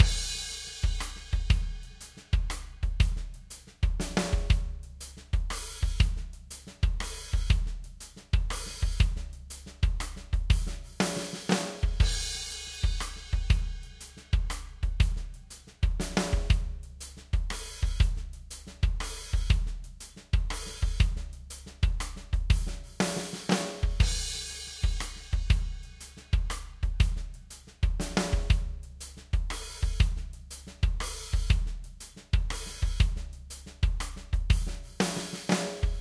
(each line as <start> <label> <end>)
0.0 DRUMS 36.0